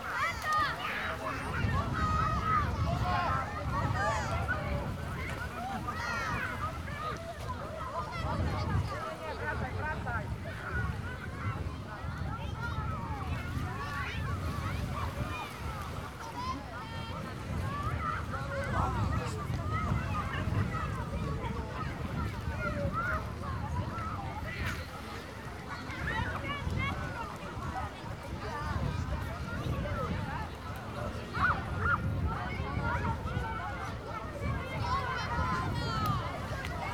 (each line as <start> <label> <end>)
0.0 people relaxing on a small beach 36.9